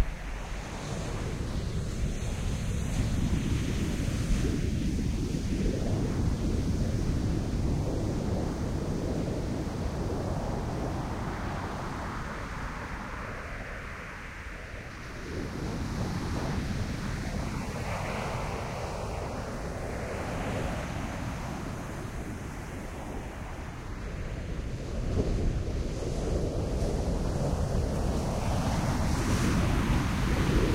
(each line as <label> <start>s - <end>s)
waves on sand 14.9s - 30.7s